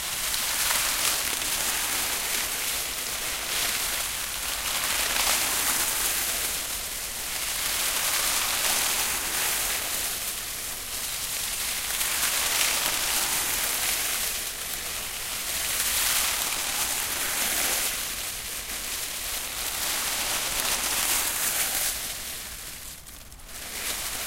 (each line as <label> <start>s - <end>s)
Rustling Dead Leaves By Hand 0.0s - 24.2s